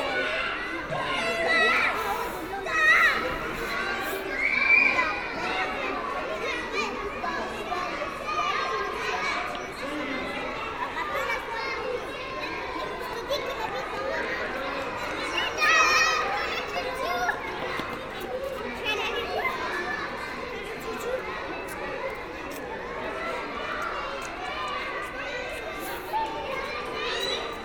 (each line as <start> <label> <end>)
0.0 Children in a playground 27.6